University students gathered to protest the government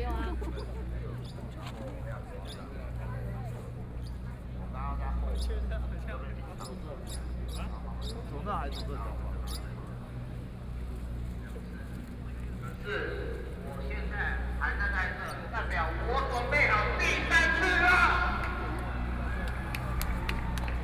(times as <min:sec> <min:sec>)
0:12.9 0:20.8